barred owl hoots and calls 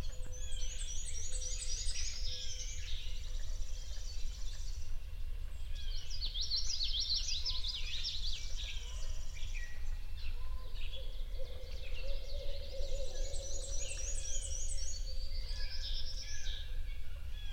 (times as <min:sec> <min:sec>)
0:07.4 0:17.5